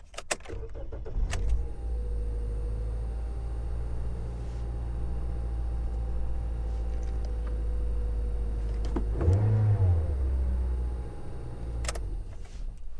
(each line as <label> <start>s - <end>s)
ignition key engine rev 0.5s - 12.8s